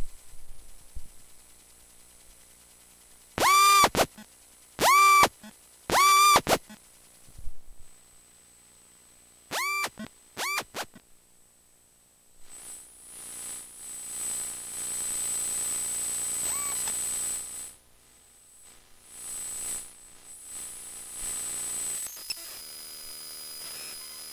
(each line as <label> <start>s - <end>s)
buzz 0.0s - 7.5s
buzz 8.2s - 11.1s
buzz 12.4s - 24.3s
click 16.4s - 17.0s